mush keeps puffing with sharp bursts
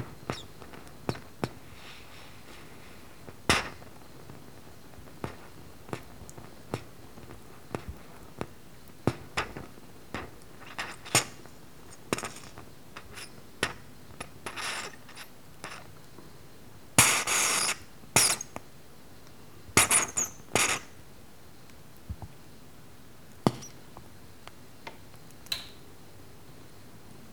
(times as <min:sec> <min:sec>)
0:10.2 0:11.4, 0:14.2 0:15.8, 0:17.0 0:18.5